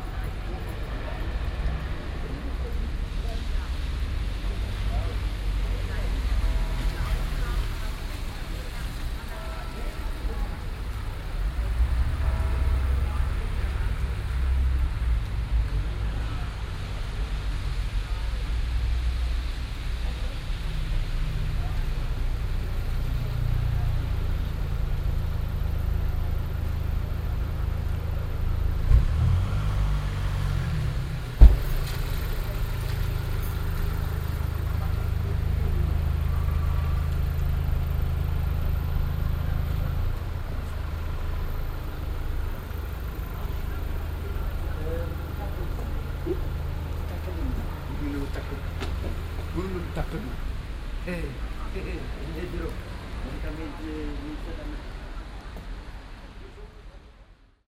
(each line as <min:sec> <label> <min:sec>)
0:00.0 Voices 0:57.6
0:00.0 rain 0:57.6
0:00.0 cars 0:57.6